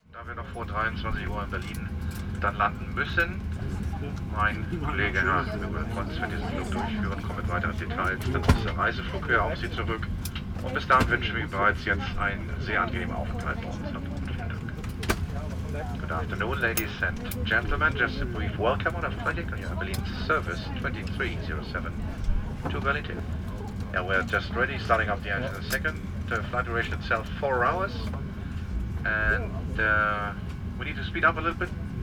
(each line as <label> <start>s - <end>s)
flight announcement before take off 0.0s - 32.0s